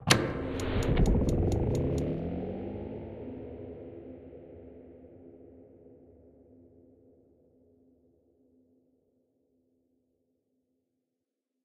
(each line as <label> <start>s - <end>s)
activation of a room or a spaceship 0.0s - 4.5s